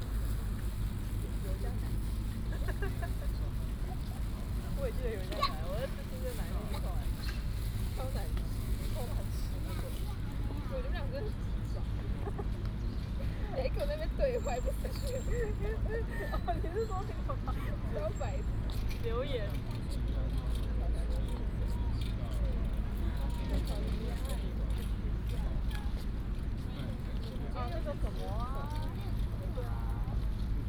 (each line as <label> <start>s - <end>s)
Traffic Sound 0.0s - 24.0s